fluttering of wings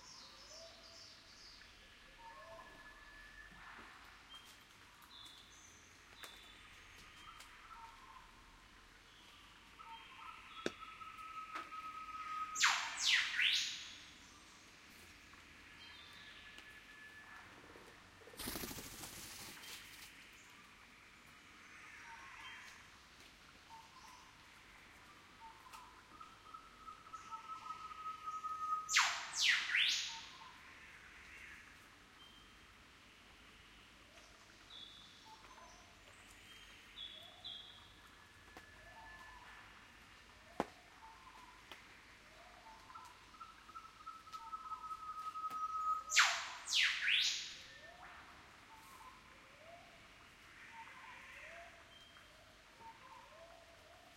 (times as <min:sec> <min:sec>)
0:18.3 0:20.2